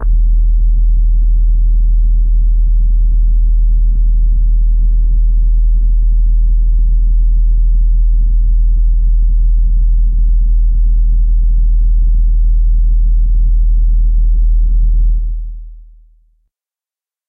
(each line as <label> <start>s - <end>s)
bass-drones 0.0s - 15.7s
rumble 0.0s - 15.9s